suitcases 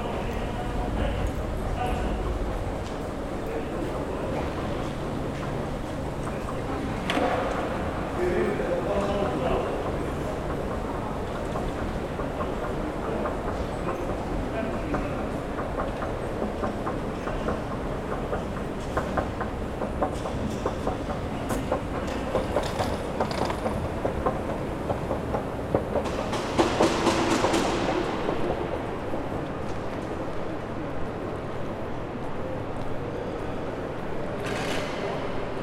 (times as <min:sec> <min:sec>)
0:20.8 0:26.2